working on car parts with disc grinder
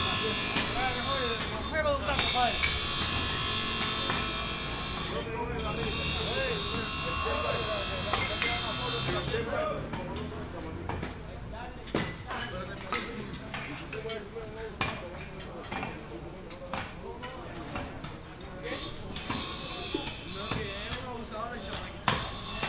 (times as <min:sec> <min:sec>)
0:00.0 0:10.6, 0:18.6 0:22.6